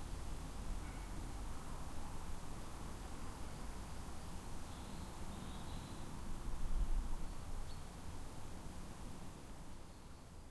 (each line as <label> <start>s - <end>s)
hiss of breeze in the trees 0.0s - 10.5s
thin call of the long tailed tit 4.6s - 6.2s